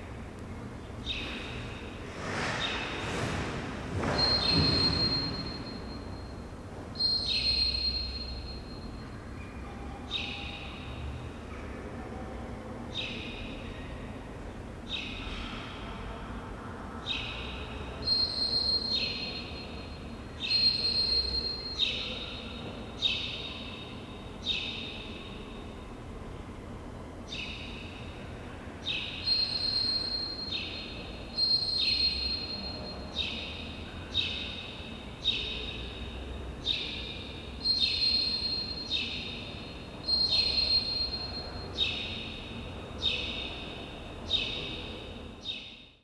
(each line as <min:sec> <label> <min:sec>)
0:04.0 motion sensor beep 0:11.0
0:04.2 bird 0:05.6
0:07.0 bird 0:08.3
0:17.1 motion sensor beep 0:25.8
0:28.8 bird 0:44.8
0:28.8 motion sensor beep 0:46.0